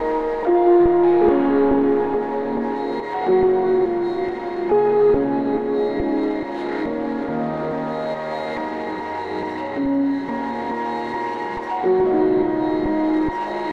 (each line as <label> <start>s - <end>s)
Piano 0.0s - 13.7s
Synth 0.0s - 13.7s